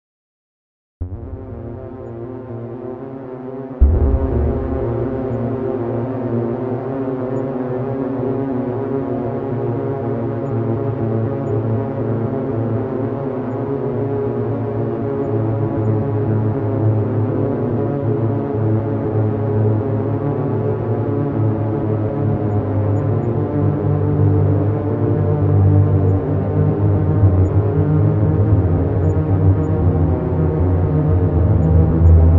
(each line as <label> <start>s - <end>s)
synth 3.8s - 6.9s